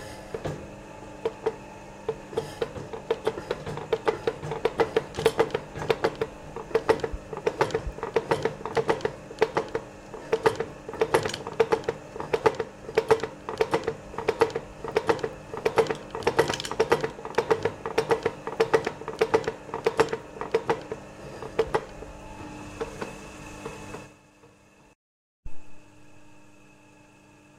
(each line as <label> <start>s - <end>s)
spring hammer 0.0s - 24.1s